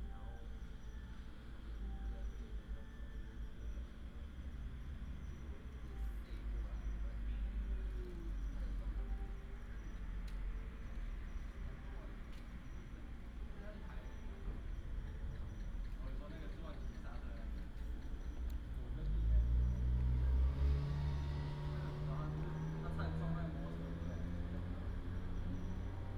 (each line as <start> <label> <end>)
13.2 traffic sound 26.1